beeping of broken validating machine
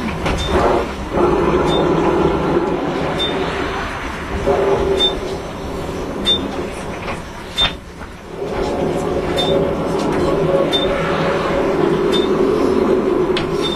1.6s 2.0s, 5.0s 5.3s, 12.1s 12.4s

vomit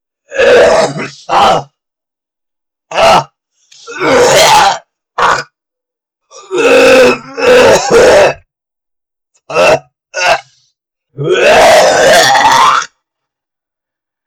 11.2s 12.9s

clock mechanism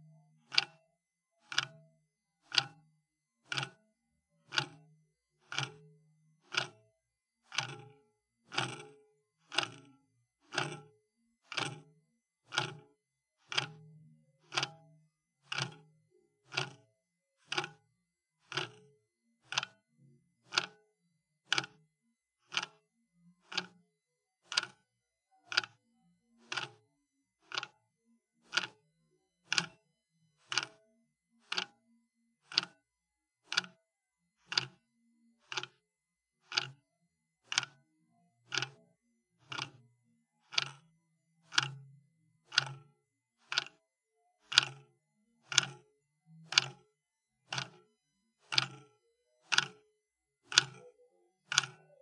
0.5s 0.8s, 1.4s 1.8s, 2.5s 2.8s, 3.5s 3.8s, 4.5s 4.8s, 5.4s 5.8s, 6.4s 6.8s, 7.4s 13.8s, 14.4s 14.8s, 15.4s 16.8s, 17.4s 17.8s, 18.4s 19.8s, 20.5s 20.8s, 21.5s 21.8s, 22.4s 22.8s, 23.5s 23.8s, 24.4s 24.8s, 25.5s 25.8s, 26.4s 26.8s, 27.4s 27.8s, 28.4s 28.8s, 29.4s 29.8s, 30.4s 30.8s, 31.4s 31.8s, 32.4s 32.8s, 33.4s 33.8s, 34.4s 34.8s, 35.4s 35.8s, 36.4s 36.8s, 37.4s 37.8s, 38.5s 38.8s, 39.4s 39.8s, 40.4s 40.8s, 41.4s 43.8s, 44.4s 45.9s, 46.5s 52.0s

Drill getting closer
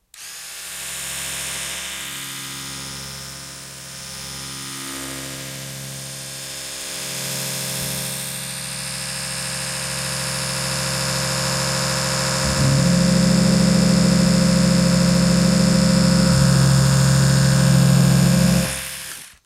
10.5s 19.4s

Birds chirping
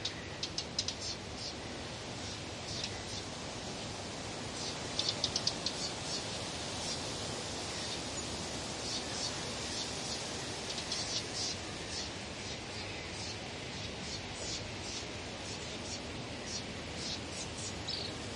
4.5s 7.0s, 7.6s 18.3s

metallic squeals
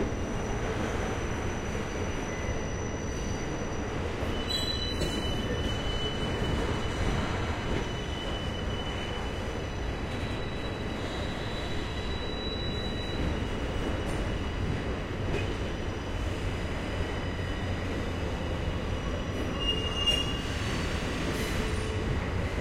2.3s 9.4s, 19.5s 20.5s

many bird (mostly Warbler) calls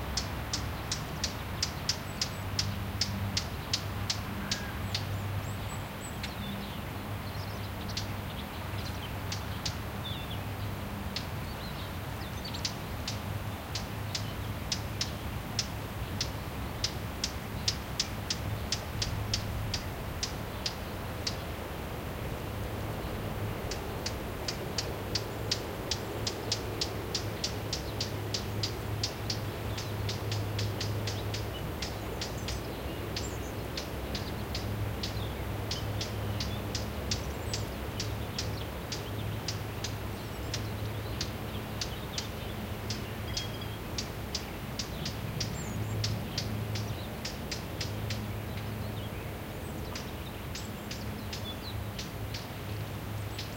0.2s 10.4s, 23.6s 53.5s

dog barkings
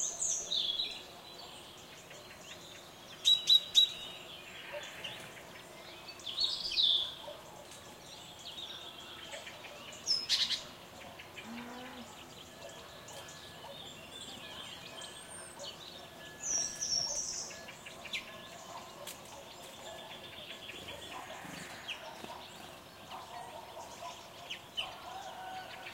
4.7s 4.9s, 7.0s 8.1s, 12.6s 13.9s, 17.9s 25.6s

